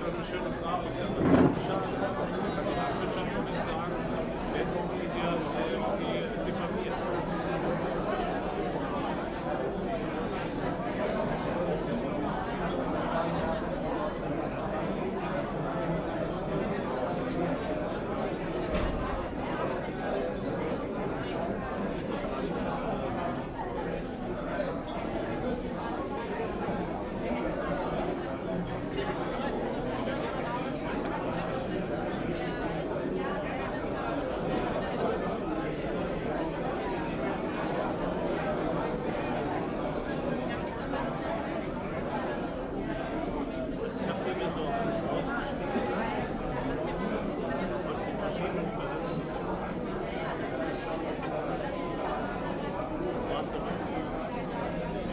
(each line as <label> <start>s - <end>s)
crowd is rather talking 0.0s - 55.1s